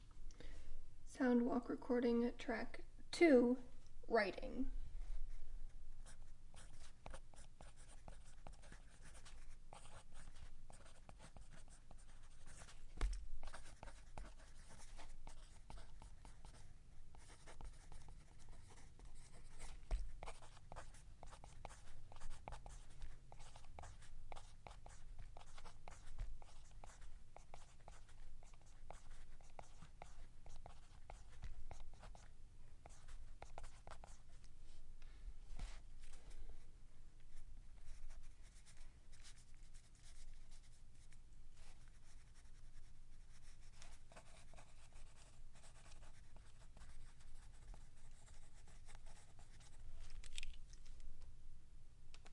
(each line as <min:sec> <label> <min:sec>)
0:06.0 Writing on paper with a pencil 0:34.5
0:37.8 Writing on paper with a pencil 0:50.5